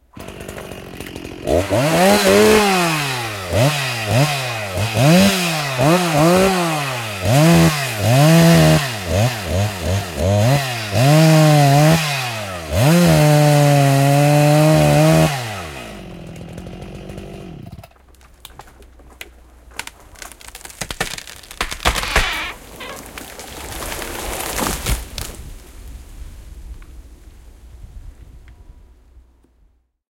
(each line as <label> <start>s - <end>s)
chain saw 0.0s - 18.3s
roots crackle 0.2s - 4.3s
big tree falls 0.2s - 12.0s
big tree falls 12.8s - 26.8s
roots crackle 16.5s - 25.8s
chain saw 20.1s - 25.0s